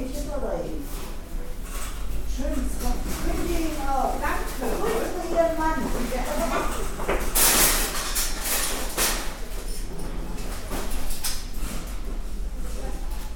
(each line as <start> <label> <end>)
1.6 SlammingSupermarketTrolleys 12.1